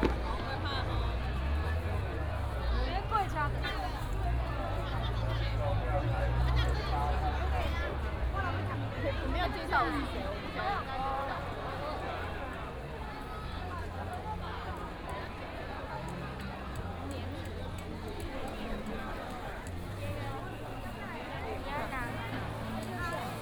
fireworks 0.0 - 2.6
Firecrackers 0.0 - 4.1
Many people gathered in the street 0.0 - 23.4

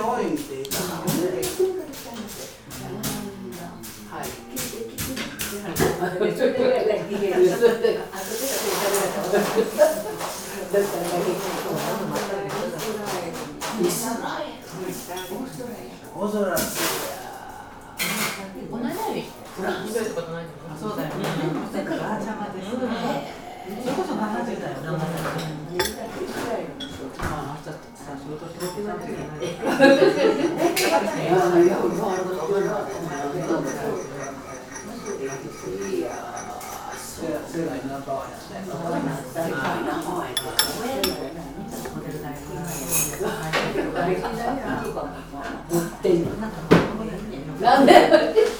murmur of people 0.0 - 48.5

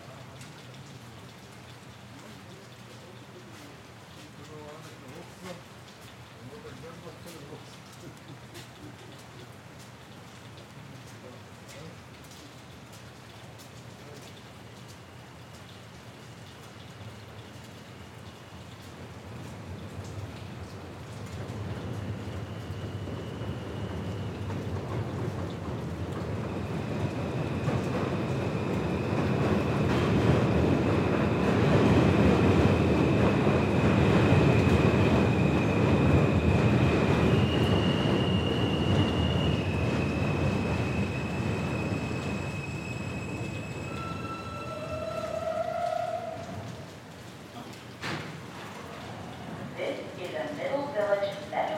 rain 0.0 - 51.7
M Train 19.0 - 46.9

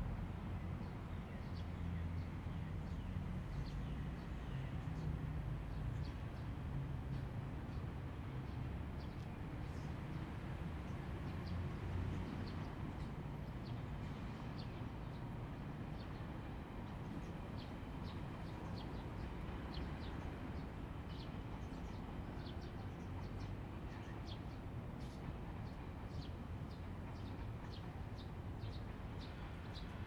Sound from the railway station 0.0 - 30.0

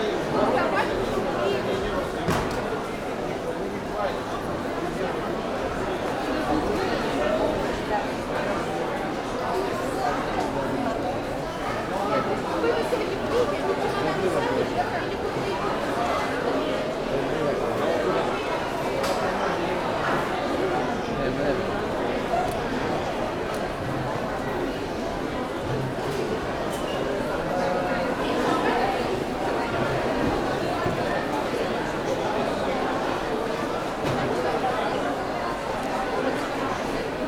hundreds of passengers waiting in lines for check-in 0.0 - 37.2

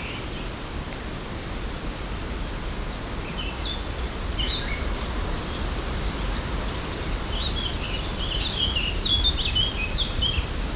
gushy wind in the trees 0.0 - 10.7

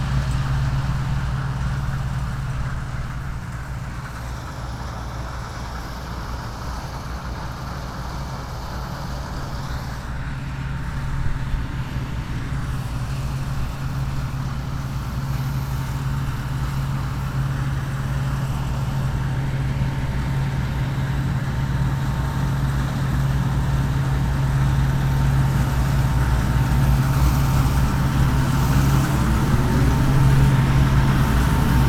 combined harvester in a barley field 0.0 - 31.8
wind 0.0 - 31.8

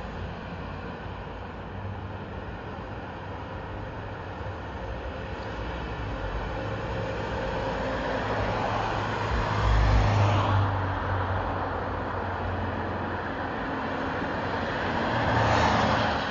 traffic 0.0 - 16.3

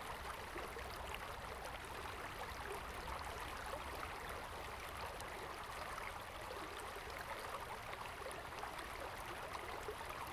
stream 3.2 - 10.3

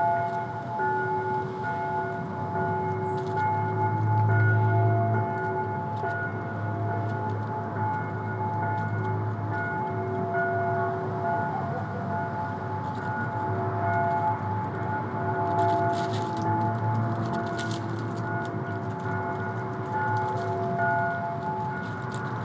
Distant bells 0.0 - 22.4
rustling leftovers from a construction site 12.8 - 22.4

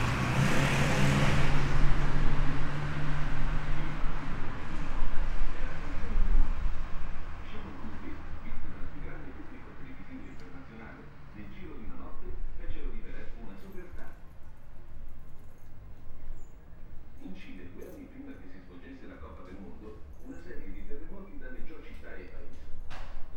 traffic 0.0 - 23.3

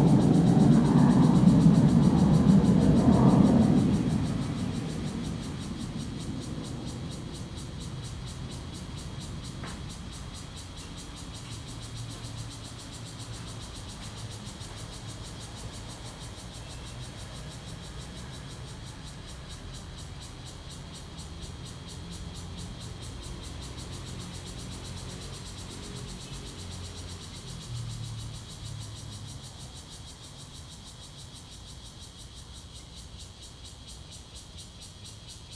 Traffic Sound 0.0 - 13.5
Cicadas sound 0.0 - 35.5

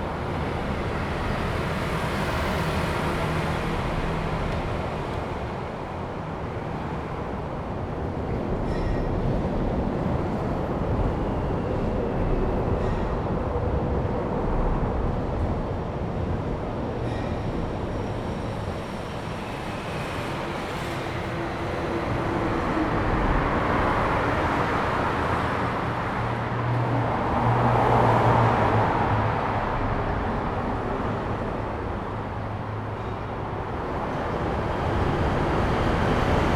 Traffic sound 0.0 - 36.5

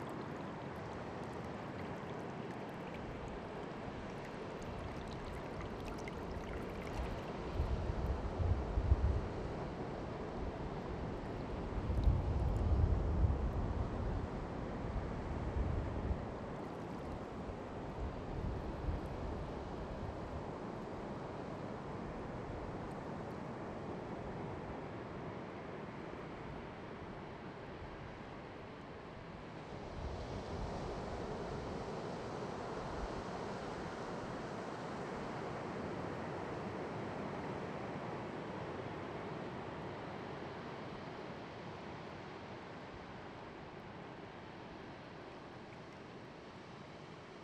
creek rushing through a beach 0.0 - 7.7
waves of Pacific 0.0 - 11.8
waves of Pacific 14.1 - 47.4

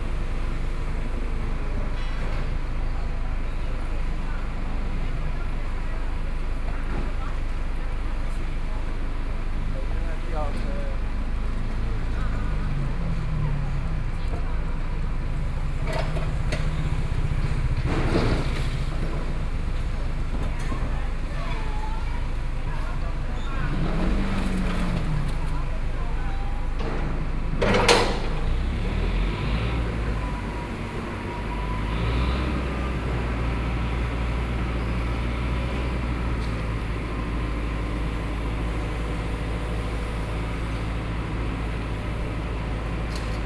Construction noise 0.0 - 43.4
crowd on the road 0.0 - 43.4
vehicle 0.0 - 43.4
Demolition waste transporting bricks 0.0 - 43.4

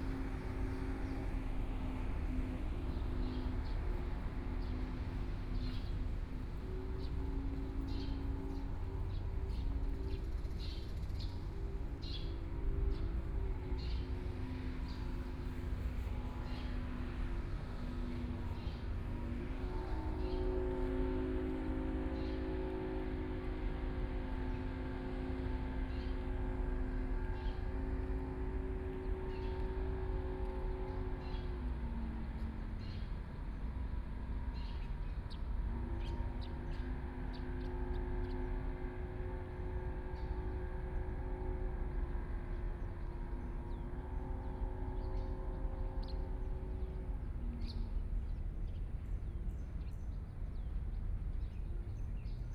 Birds singing 0.0 - 52.5

